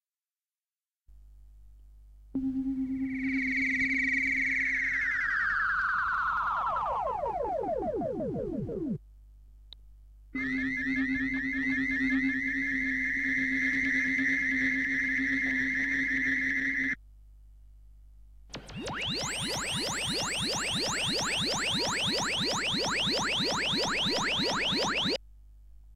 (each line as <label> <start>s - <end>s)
Mellotron spacey bleeps 2.4s - 9.0s
Mellotron spacey bleeps 10.4s - 17.0s
Mellotron spacey bleeps 18.6s - 25.2s